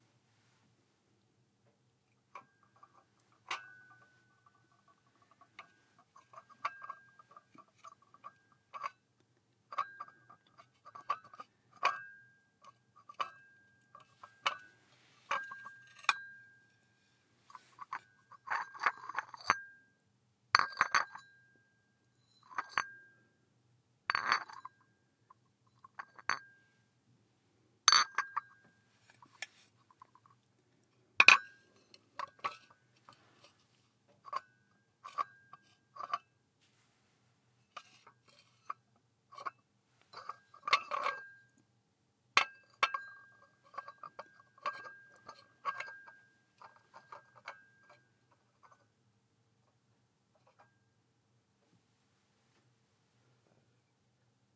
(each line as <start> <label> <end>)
2.3 Teacup Rattle 8.9
13.0 Teacup Rattle 16.2
24.1 Teacup Rattle 24.7
27.9 Teacup Rattle 30.4